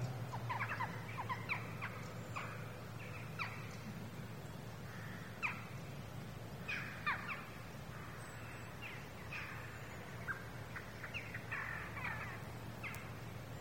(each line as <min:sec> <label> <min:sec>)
0:09.2 Crows 0:13.1